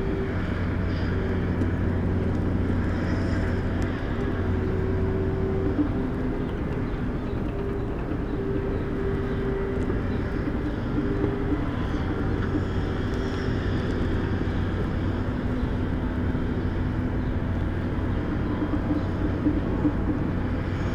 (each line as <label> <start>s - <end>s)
bulldozers 0.0s - 20.9s
different excavators 0.0s - 20.9s
trucks 0.0s - 20.9s